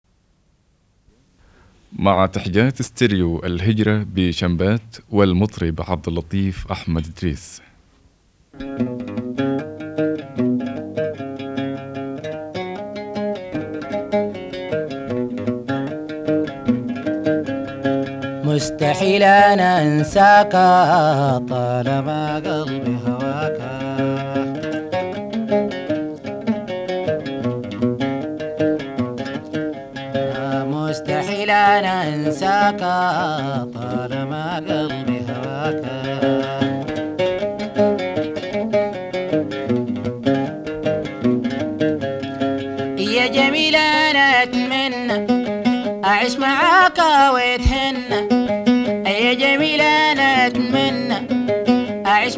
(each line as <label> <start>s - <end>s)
singer 18.4s - 24.8s
singer 30.2s - 36.9s
singer 43.0s - 48.4s
singer 49.0s - 51.4s
singer 52.0s - 52.3s